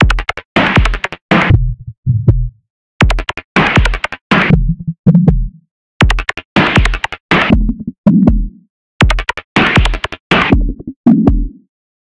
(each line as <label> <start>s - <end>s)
Drum Synth 0.0s - 11.6s